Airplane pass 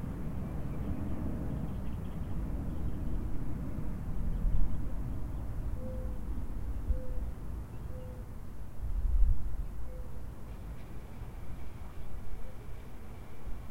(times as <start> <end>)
10.4 13.7